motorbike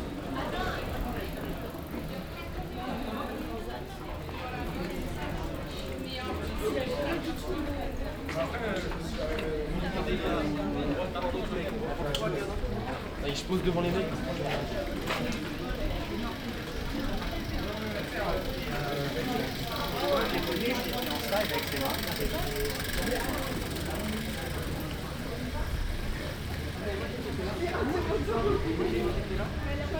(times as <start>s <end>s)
14.4s 29.9s